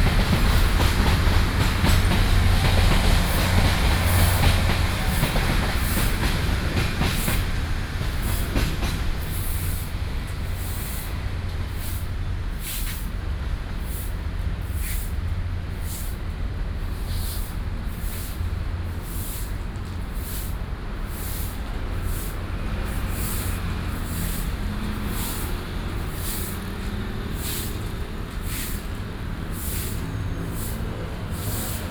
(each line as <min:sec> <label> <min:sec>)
0:00.0 Traffic Sound 0:31.9
0:00.0 Traveling by train 0:31.9